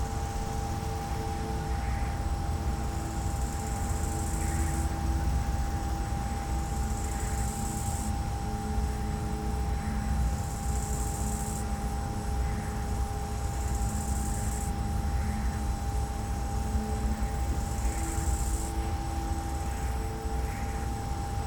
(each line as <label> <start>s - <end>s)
crickets 0.0s - 21.4s
silent wind turbine 0.0s - 21.4s